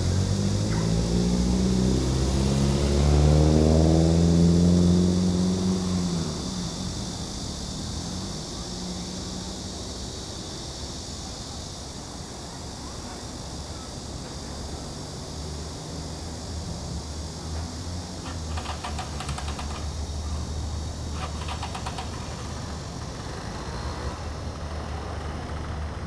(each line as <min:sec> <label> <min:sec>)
0:00.0 Cicadas cry 0:26.0
0:18.1 Traffic Sound 0:26.0